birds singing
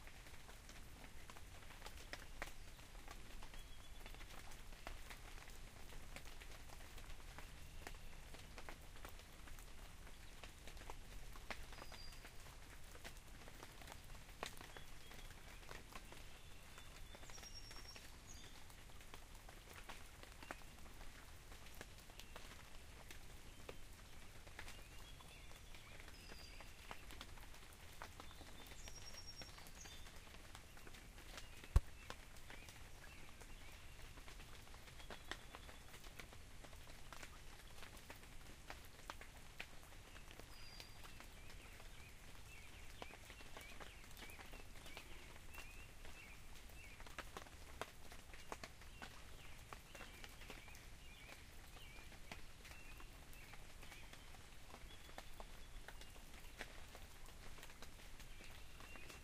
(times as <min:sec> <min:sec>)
0:14.6 0:18.7, 0:23.4 0:27.3, 0:28.0 0:36.0